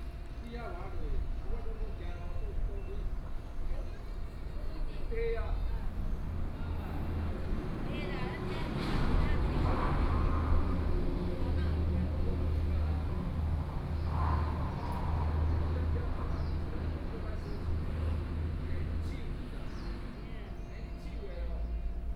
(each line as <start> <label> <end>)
5.8 Traffic Sound 21.4